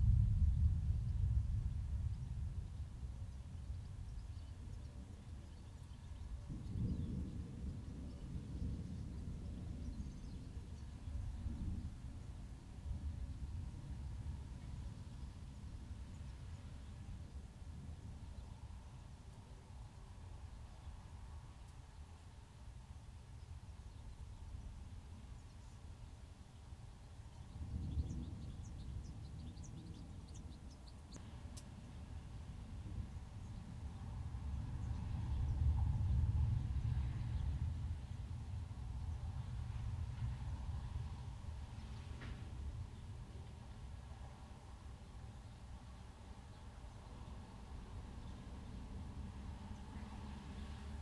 thunder 0:00.0 - 0:02.8
rain 0:00.0 - 0:51.0
thunder 0:06.4 - 0:12.2
thunder 0:32.1 - 0:43.0

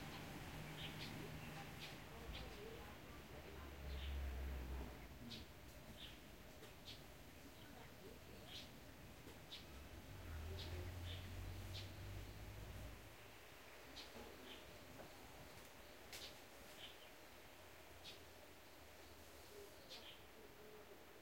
Birds 0:00.0 - 0:21.2

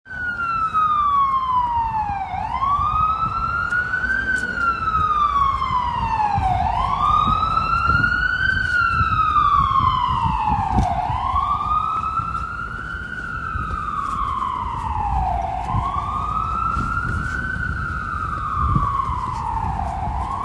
ambulance 0:00.1 - 0:20.4

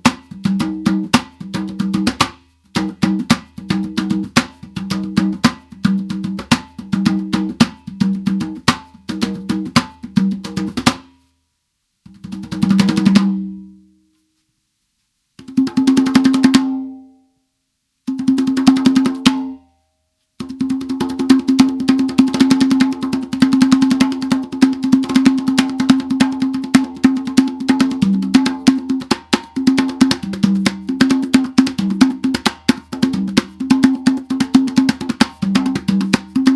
congas 0:00.0 - 0:11.3
congas 0:12.0 - 0:13.8
congas 0:15.4 - 0:17.2
congas 0:18.0 - 0:19.7
congas 0:20.4 - 0:36.5

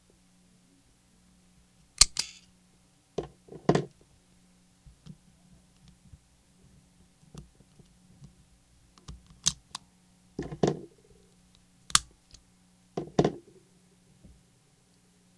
Unloading the magazine for a Smith and Wesson 9MM 0:02.0 - 0:02.4
Unloading the magazine for a Smith and Wesson 9MM 0:09.0 - 0:09.8
Unloading the magazine for a Smith and Wesson 9MM 0:11.9 - 0:12.4

